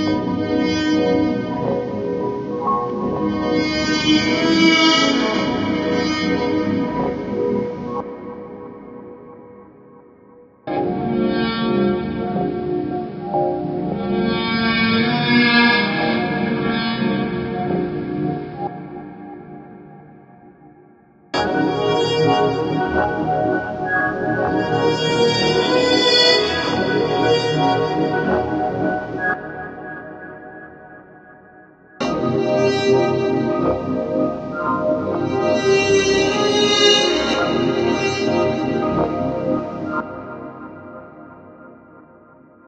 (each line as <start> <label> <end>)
21.4 Dreamy Granular Horns 30.4